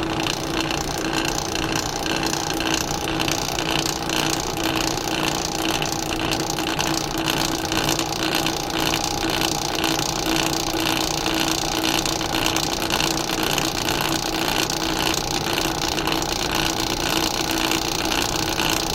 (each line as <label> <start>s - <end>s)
blade buffer running 0.0s - 18.9s